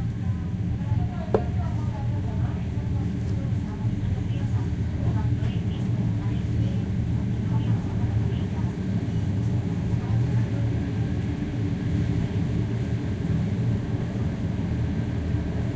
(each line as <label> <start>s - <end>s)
train journey 0.0s - 15.7s